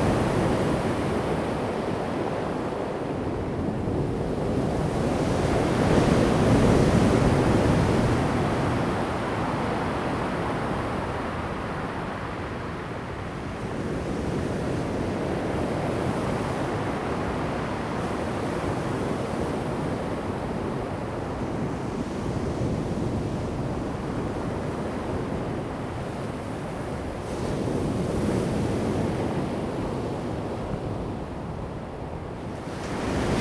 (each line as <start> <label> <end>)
31.4 waves 33.4